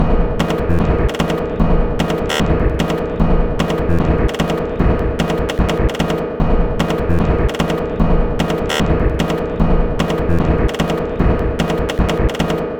0.4s Drum Loop 12.6s

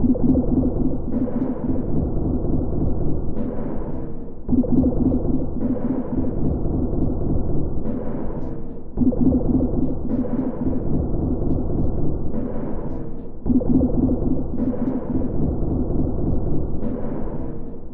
0.0s Drum 17.9s

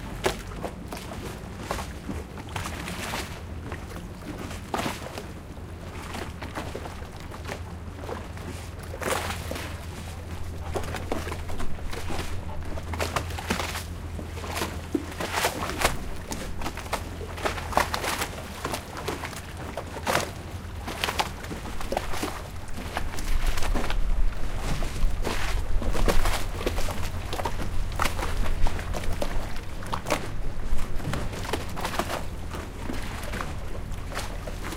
0.0s Splashing sound of parked public gondolas 34.7s

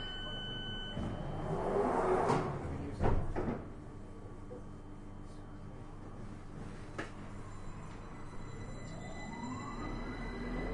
0.0s train 3.6s
5.9s train 10.7s

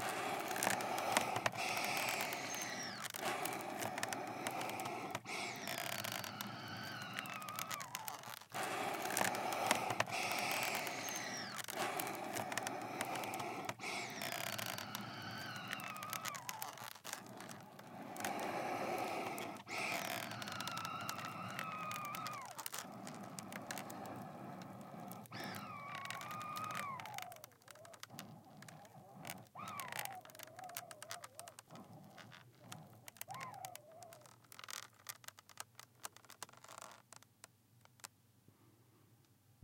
0.0s creaky squeeze box breathing in and out air 39.2s

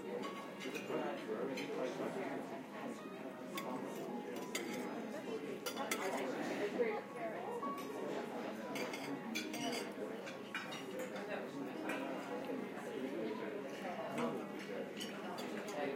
4.4s plates 4.9s
4.4s cutlery 4.9s

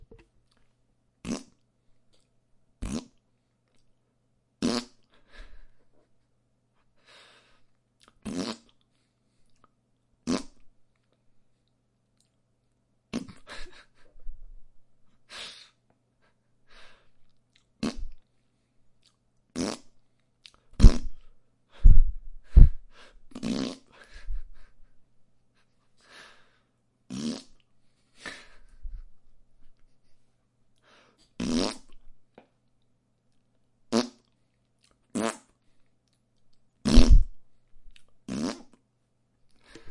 4.6s Blowing raspberries 5.7s
8.2s Blowing raspberries 8.8s
13.2s me laughing 14.4s
17.8s Blowing raspberries 18.2s
19.6s Blowing raspberries 19.9s
20.8s Blowing raspberries 24.7s
23.9s me laughing 25.0s
27.1s Blowing raspberries 27.6s
31.4s Blowing raspberries 32.0s
36.8s Blowing raspberries 37.4s
38.3s Blowing raspberries 38.8s

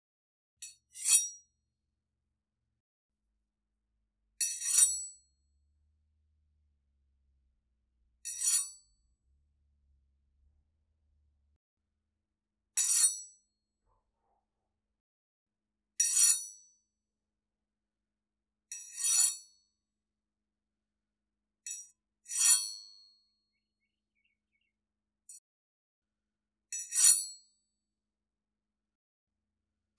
8.3s silverware knives sliding against each other 8.7s

